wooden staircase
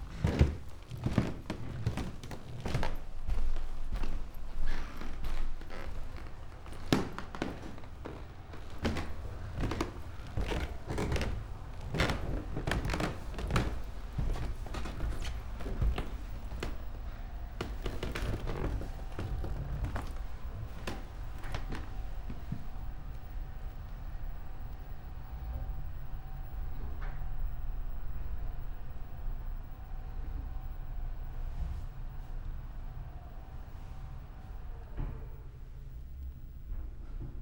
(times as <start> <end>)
0.0 22.7